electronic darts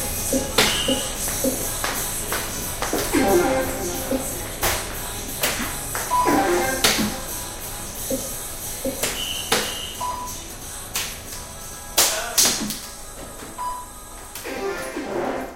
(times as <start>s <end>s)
0.2s 2.0s, 2.9s 10.4s